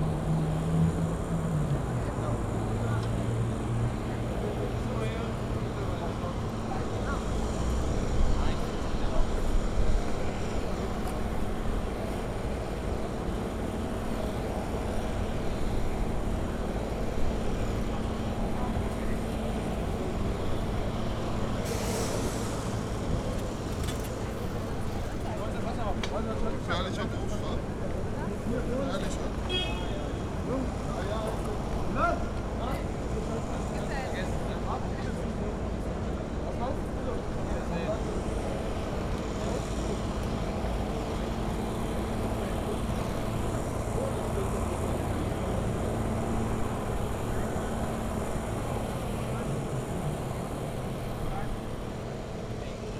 trucks 0.0 - 52.9
vans 0.0 - 52.9
police cars 0.0 - 52.9

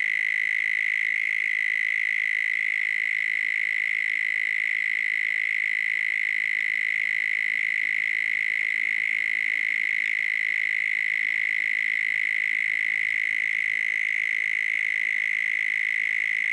Loud cicada 0.0 - 16.5

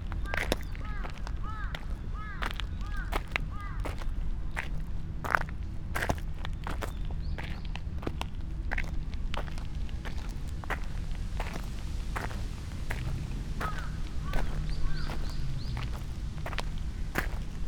steps 3.2 - 17.6

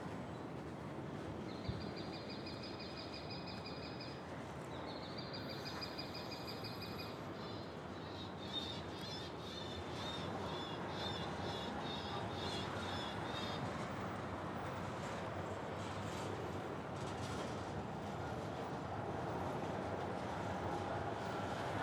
trains can be heard 0.0 - 21.8

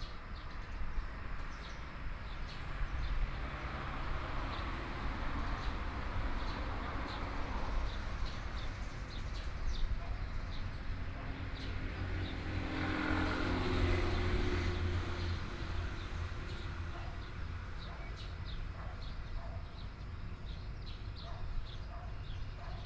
Traffic Sound 0.0 - 22.8
Birdsong 16.1 - 22.8

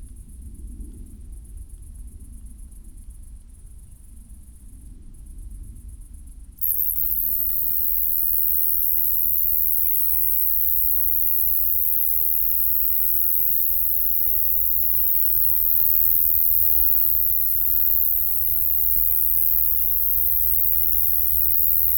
night cricket 6.6 - 21.9

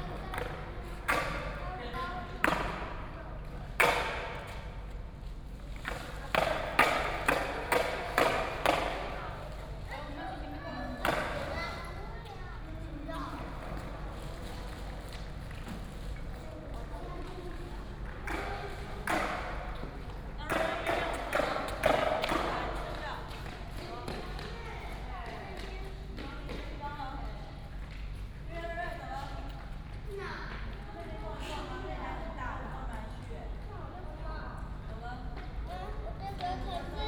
Child and skateboard 0.1 - 4.2
Child and skateboard 5.8 - 14.6
Child and skateboard 17.0 - 26.6

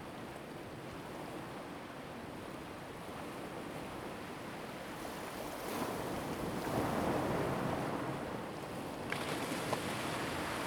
waves 5.2 - 10.6

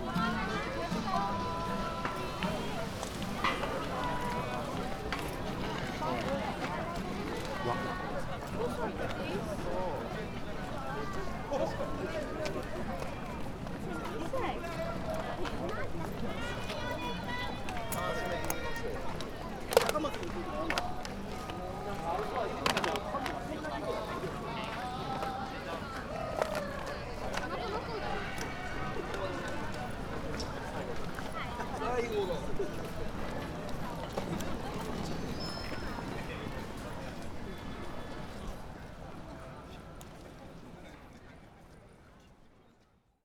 huge crowd moving around the park 0.0 - 43.2

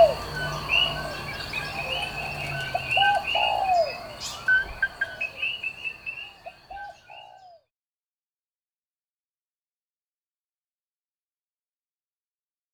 a little light traffic 0.0 - 6.7
Morning birds 0.0 - 7.7

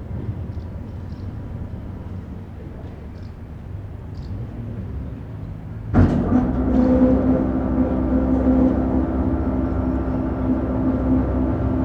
noise of the boat lift 5.9 - 11.8

